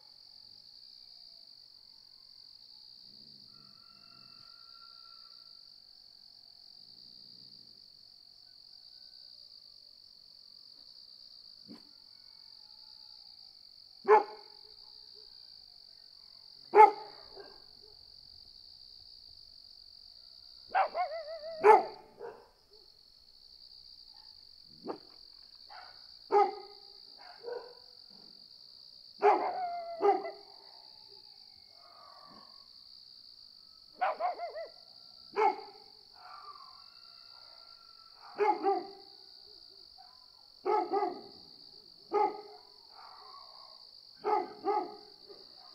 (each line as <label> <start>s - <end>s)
crickets 0.0s - 45.7s
dogs 11.6s - 12.0s
dogs 14.1s - 15.3s
dogs 16.2s - 18.1s
dogs 20.7s - 22.9s
dogs 24.1s - 28.4s
dogs 29.2s - 32.7s
dogs 34.0s - 45.7s